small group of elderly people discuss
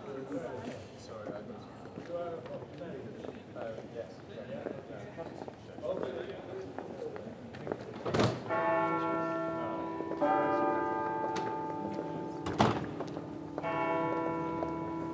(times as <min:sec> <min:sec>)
0:00.0 0:10.7